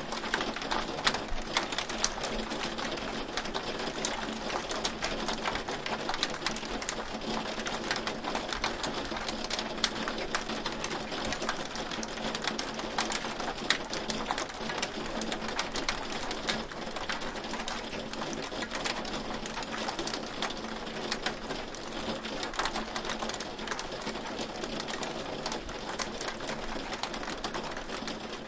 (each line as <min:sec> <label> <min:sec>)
0:00.0 light hail hitting a glass skylight window 0:28.4